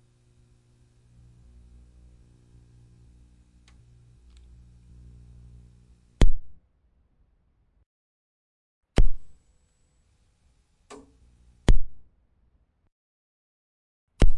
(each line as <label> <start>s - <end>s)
television tv on off CRT buzz 0.0s - 6.2s